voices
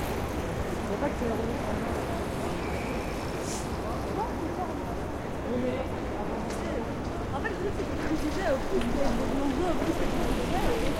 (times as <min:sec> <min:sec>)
0:03.5 0:10.9